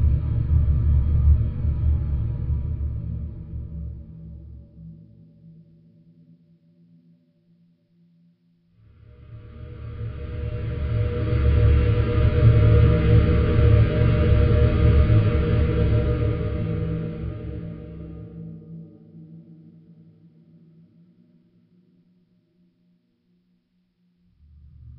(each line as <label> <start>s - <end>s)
rumble 0.0s - 5.0s
rumble 8.8s - 18.8s
rumble 24.2s - 24.9s